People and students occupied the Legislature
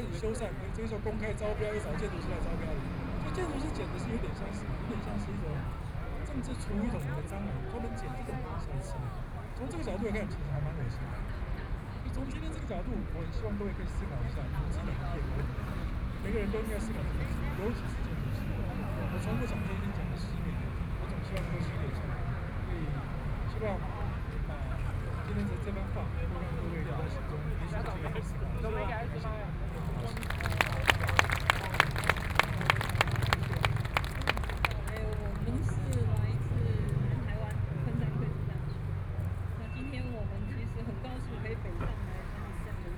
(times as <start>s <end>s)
26.0s 37.8s